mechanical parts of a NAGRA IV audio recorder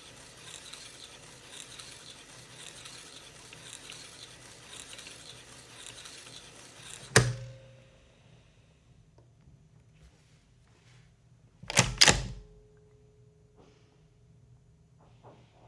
0.0s 7.5s

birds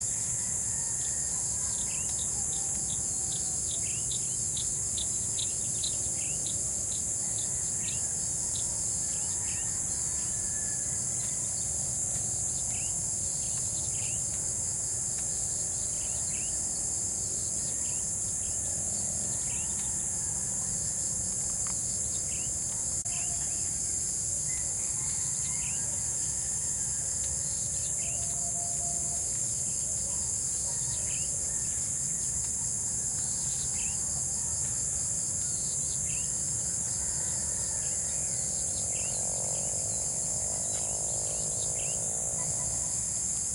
0.0s 23.6s, 24.5s 34.8s

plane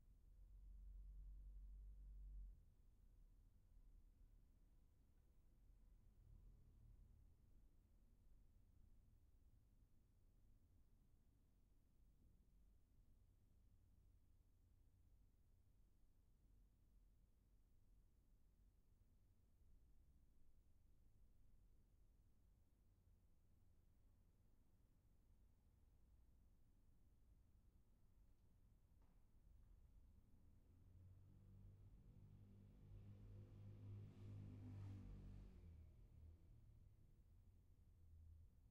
30.9s 36.4s

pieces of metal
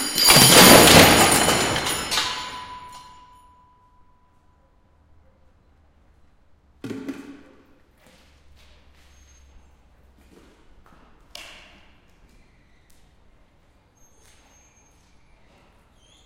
0.0s 3.4s

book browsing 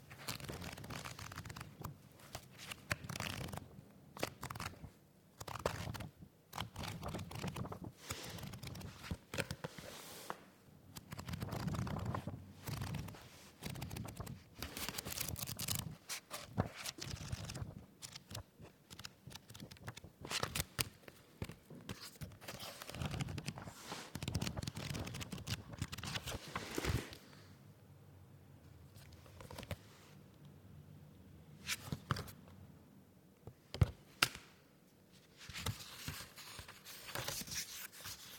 0.1s 10.4s, 11.0s 27.2s

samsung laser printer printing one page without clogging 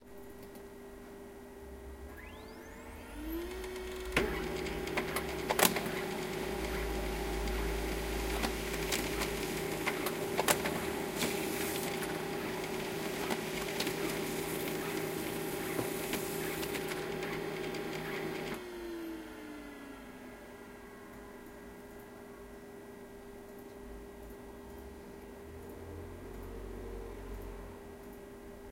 2.1s 18.8s

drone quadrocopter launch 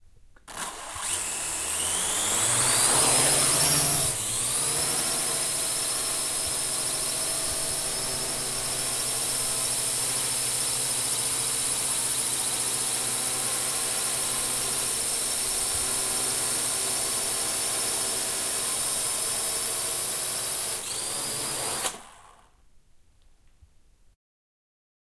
0.5s 9.4s, 20.9s 22.5s

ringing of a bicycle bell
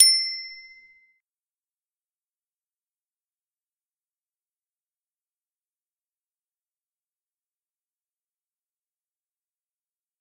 0.0s 1.2s

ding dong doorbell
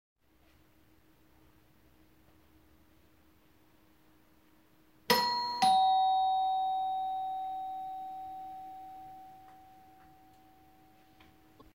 5.1s 11.3s

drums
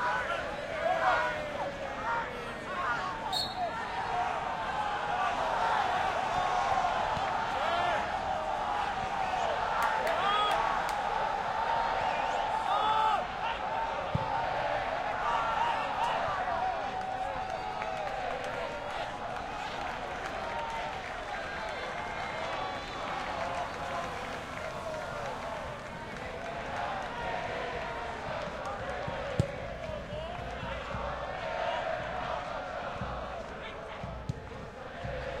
28.3s 35.4s

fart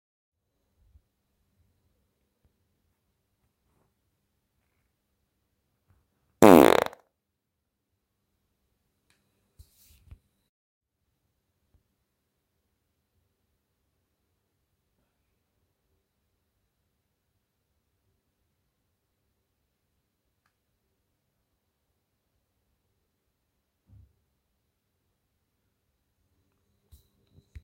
6.4s 7.0s

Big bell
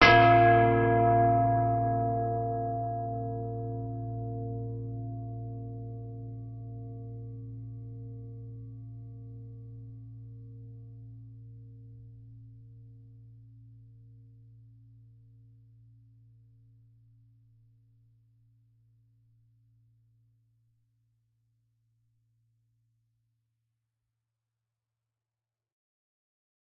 0.0s 9.2s

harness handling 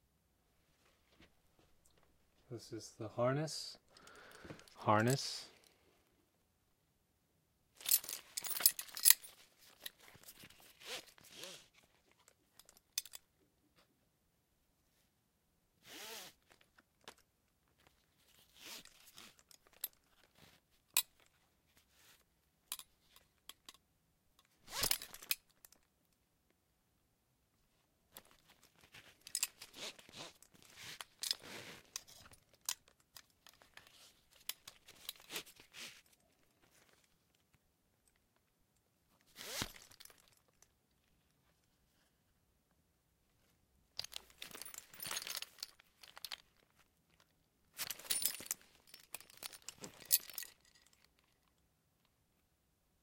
7.8s 11.6s, 24.6s 25.8s, 28.1s 37.1s, 39.3s 40.6s, 44.0s 46.8s, 47.7s 51.4s

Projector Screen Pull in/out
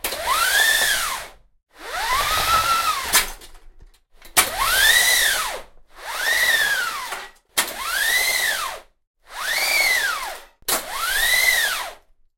1.9s 3.6s

